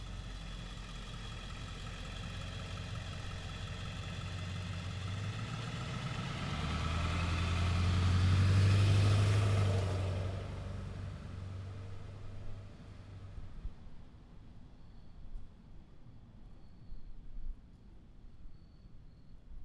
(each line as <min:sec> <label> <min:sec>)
0:04.4 cars driving by 0:12.2